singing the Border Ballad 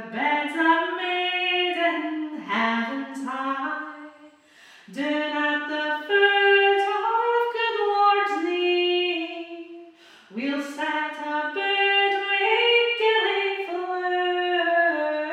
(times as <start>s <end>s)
4.8s 15.3s